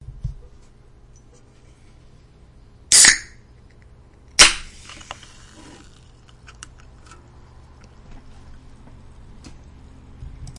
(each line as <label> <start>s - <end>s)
Soda Can Opening 2.9s - 3.4s